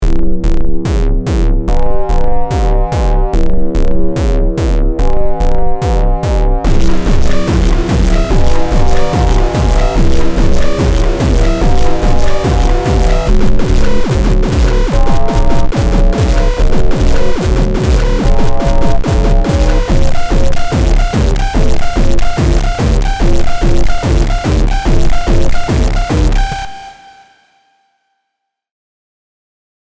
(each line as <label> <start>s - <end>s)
bass 0.0s - 27.1s
crunchy beat 0.0s - 27.0s